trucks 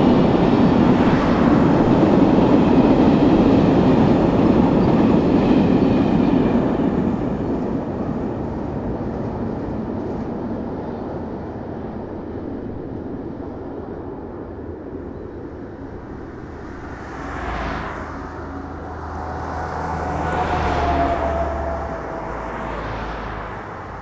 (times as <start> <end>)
15.4 24.0